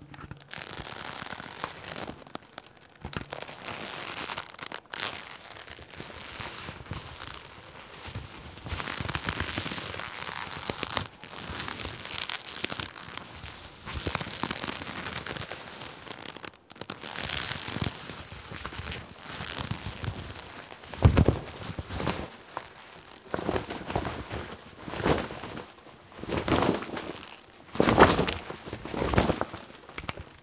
0.0s Scrunching the collar of my sweet leatha bomber jacket 30.4s

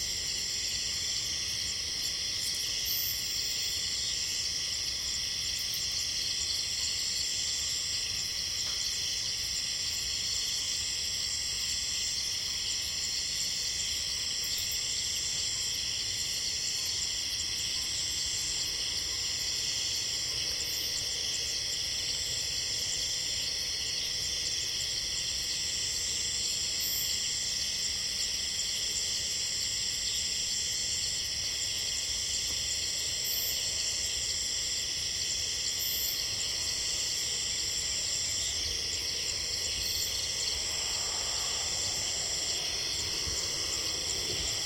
0.0s Cicades 44.6s

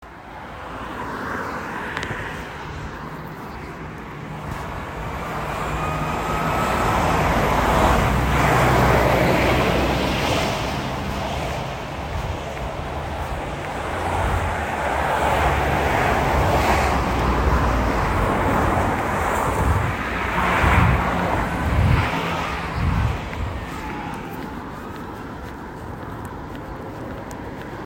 0.0s busy road 27.8s

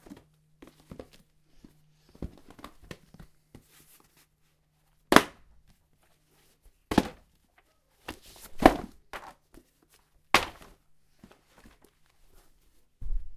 6.9s Books dropping from bookshelf 7.4s
8.0s Books dropping from bookshelf 9.4s
10.4s Books dropping from bookshelf 11.9s

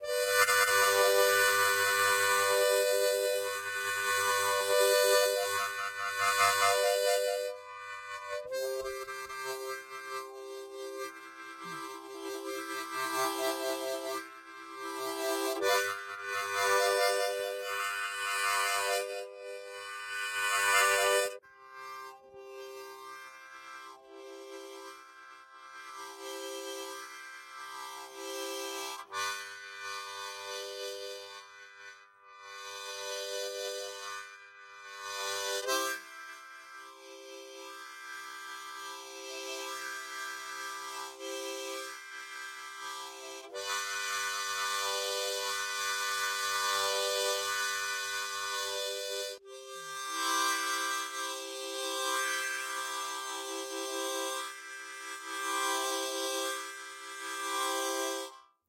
0.0s Harmonica Chord Variations 58.4s

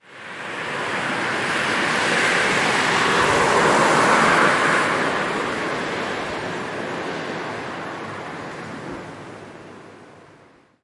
0.0s car driving by in the late evening on a wet road 9.8s

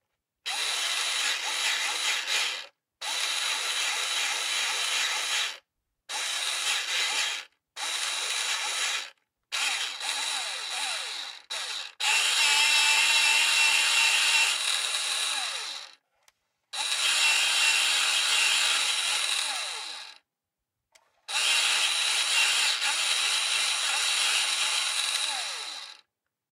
0.5s electric pencil sharpener 16.0s
16.8s electric pencil sharpener 20.2s
21.3s electric pencil sharpener 26.1s

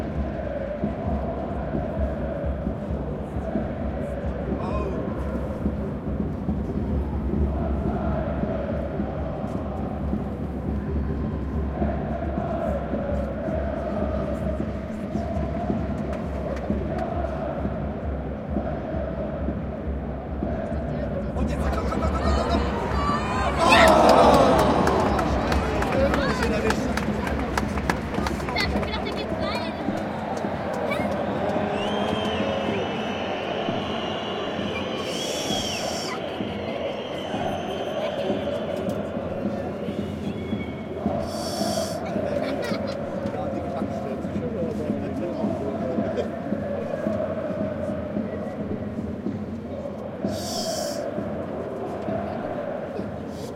0.0s chanting 53.5s
21.6s Spectators shout with mounting excitement 43.4s
22.4s children 32.9s

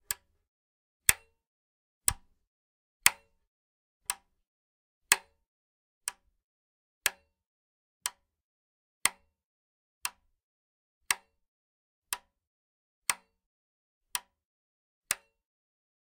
2.1s wall heater switch being turned on and off 2.3s

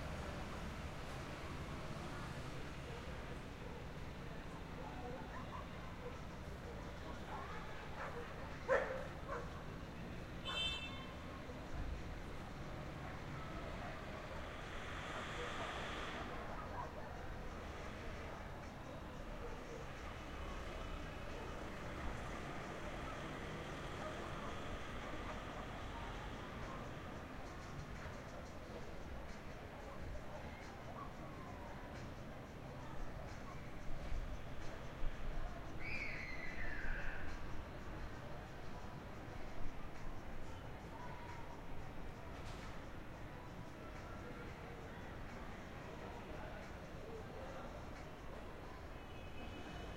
4.8s Dogs 9.8s
15.0s Dogs 17.5s

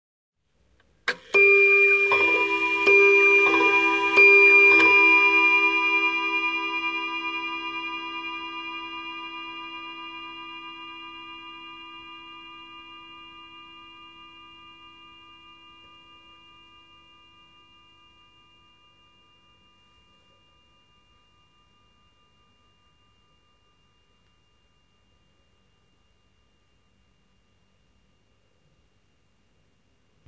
1.3s Antique table clock (probably early 20th century) chiming three times 7.7s

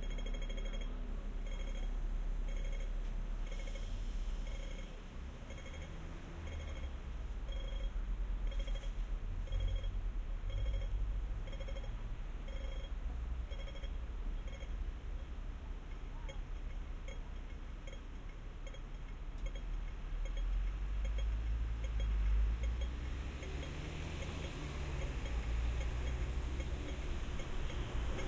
0.0s traffic 28.2s

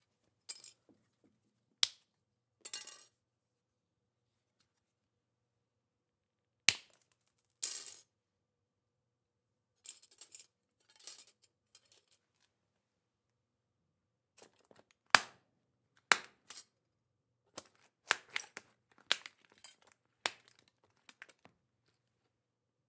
16.0s Snapping small pieces of plastic by hand 16.6s
17.5s Snapping small pieces of plastic by hand 21.5s

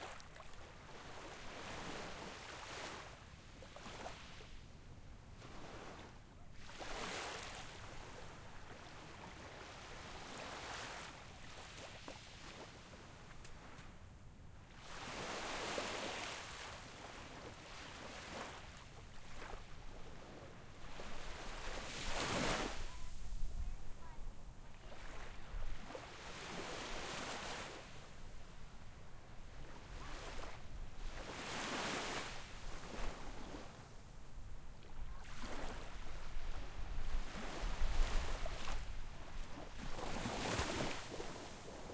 0.0s small waves that wash up on shore 4.6s
5.4s small waves that wash up on shore 13.9s
14.6s small waves that wash up on shore 41.9s

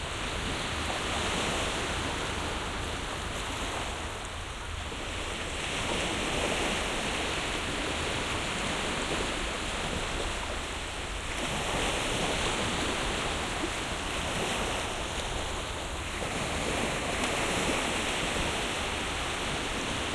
0.0s Waves 20.1s

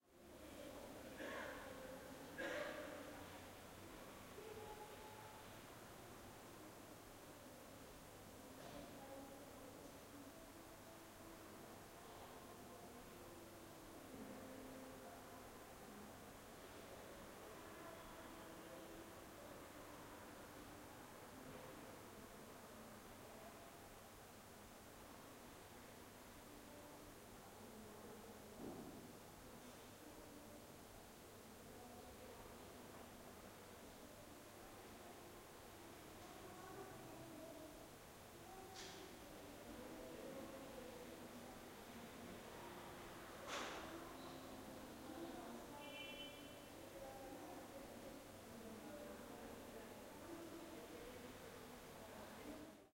0.4s voices 6.7s
31.4s voices 52.9s

